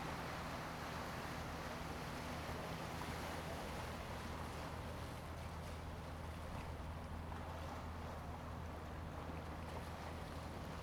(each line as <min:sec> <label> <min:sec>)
0:00.0 waves 0:10.8